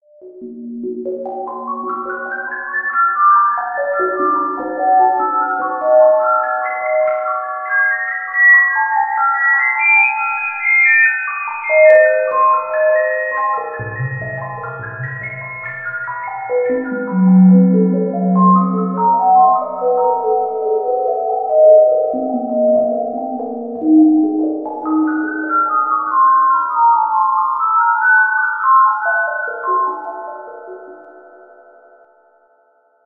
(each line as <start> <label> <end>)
13.8 Beeping effect 19.1